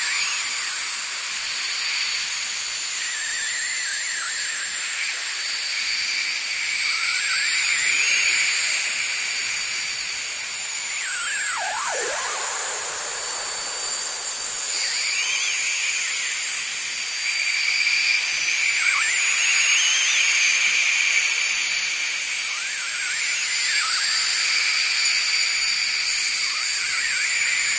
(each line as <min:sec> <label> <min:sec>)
0:00.0 ambient space drone 0:27.7
0:10.6 Whistling birds with added space effects 0:20.4